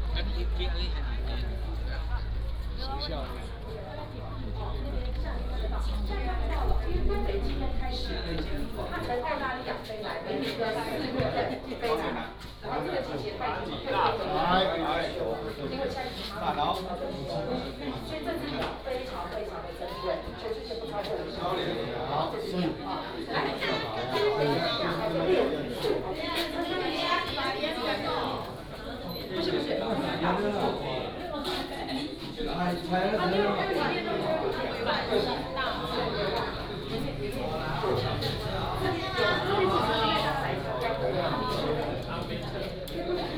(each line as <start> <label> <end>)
0.0 Tourists 43.3